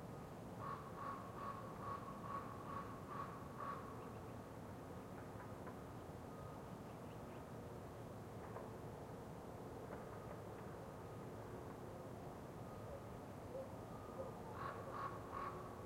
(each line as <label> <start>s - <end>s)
wind 0.0s - 15.8s
distant traffic 0.0s - 15.8s
Crows 0.6s - 4.0s
Crows 14.2s - 15.8s